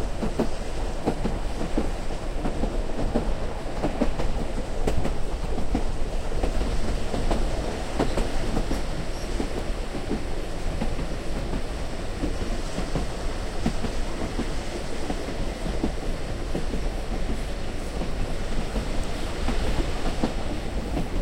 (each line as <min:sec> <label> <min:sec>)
0:00.0 Steam Train Interior 0:21.2